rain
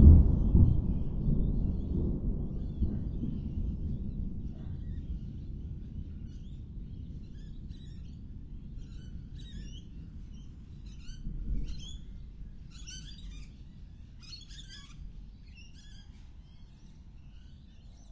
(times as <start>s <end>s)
0.0s 12.5s